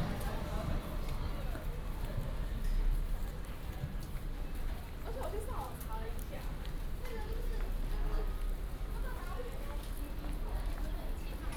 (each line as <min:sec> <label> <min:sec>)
0:00.0 The train arrives and departs 0:04.0